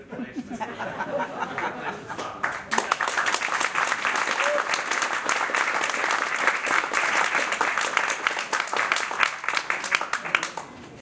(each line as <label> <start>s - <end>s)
clapping 2.1s - 10.8s